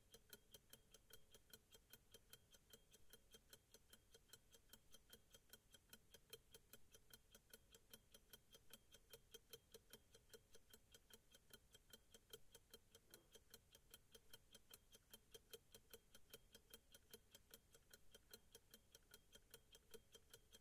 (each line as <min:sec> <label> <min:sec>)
0:00.0 pocket watch 0:20.6